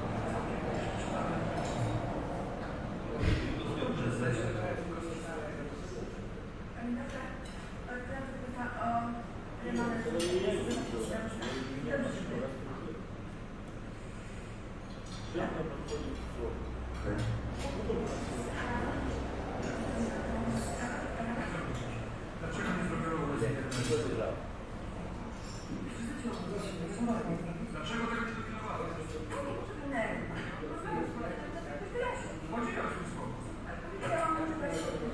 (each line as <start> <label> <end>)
15.3 television 35.1